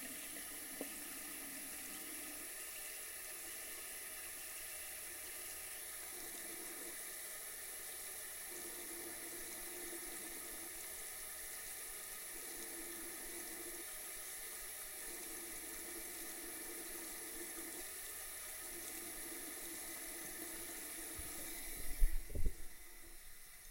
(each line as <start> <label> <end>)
0.0 Tap water 1.7
21.1 Tap water 23.2